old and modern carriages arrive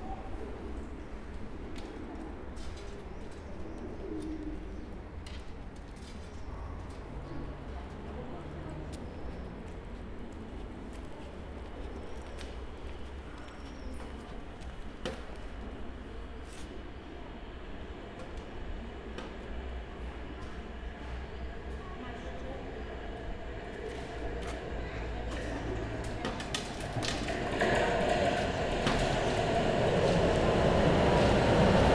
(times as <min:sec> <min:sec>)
0:18.8 0:31.9